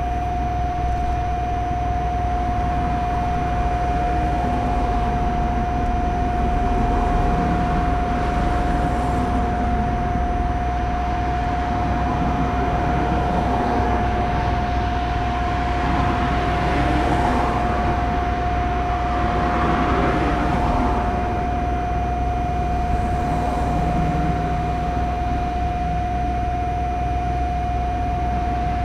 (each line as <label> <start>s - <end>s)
hum and whine of commercial AC units 0.0s - 28.8s
traffic 0.0s - 28.8s